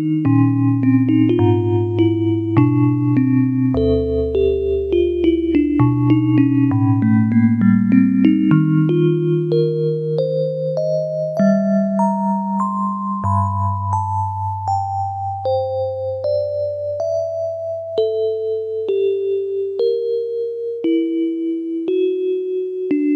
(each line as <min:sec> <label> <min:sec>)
0:00.0 keyboard with built-in FM-synthesizer 0:23.1